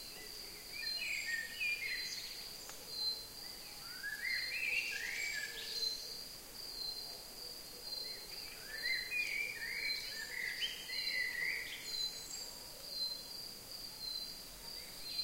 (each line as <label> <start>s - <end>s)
Crickets 0.0s - 15.2s
Singing Birds 8.0s - 13.2s
dogs barking far away 12.4s - 13.3s